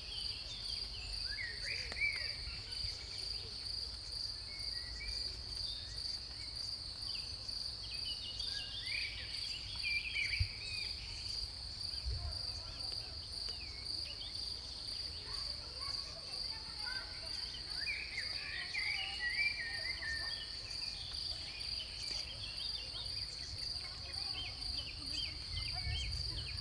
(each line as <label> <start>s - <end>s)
crickets 0.0s - 26.6s
voices 15.3s - 26.6s